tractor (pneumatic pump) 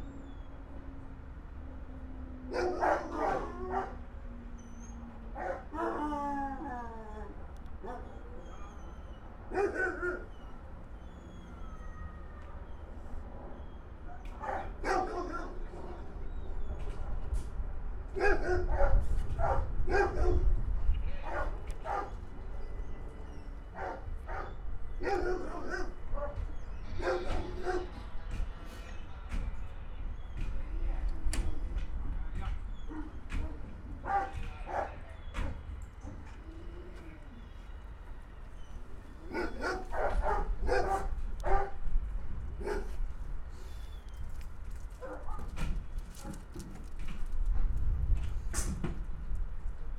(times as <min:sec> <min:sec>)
0:48.2 0:49.0